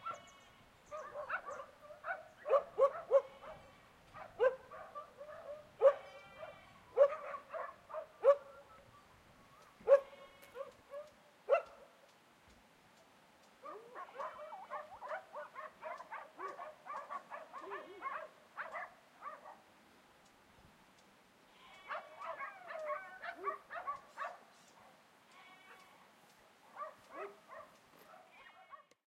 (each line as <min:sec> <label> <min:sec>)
0:00.9 Dogs Barking 0:08.8
0:09.6 Dogs Barking 0:11.9
0:13.6 Dogs Barking 0:19.6
0:21.8 Dogs Barking 0:25.0
0:26.7 Dogs Barking 0:29.0